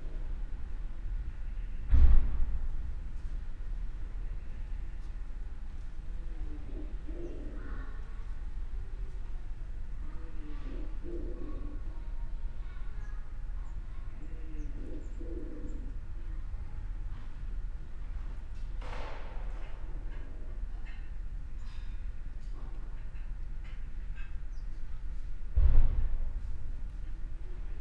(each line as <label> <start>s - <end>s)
a pidgeon makes strange sounds 6.2s - 8.1s
a pidgeon makes strange sounds 10.1s - 12.0s
a pidgeon makes strange sounds 14.1s - 16.0s